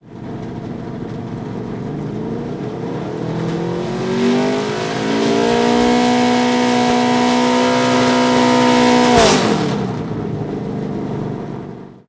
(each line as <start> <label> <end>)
0.2 Chevrolet Nascar engine revving 10.8